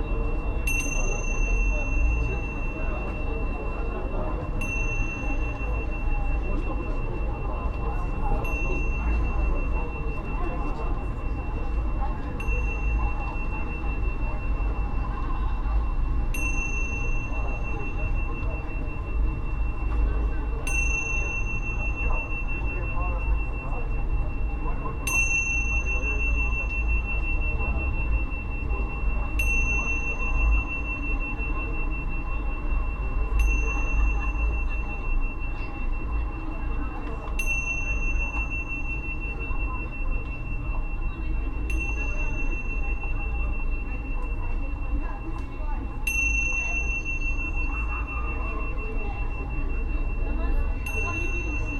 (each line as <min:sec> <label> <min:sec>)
0:00.0 night flow of people 0:51.7